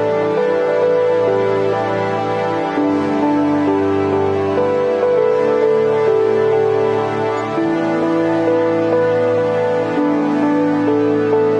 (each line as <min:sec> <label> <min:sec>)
0:00.0 music 0:11.5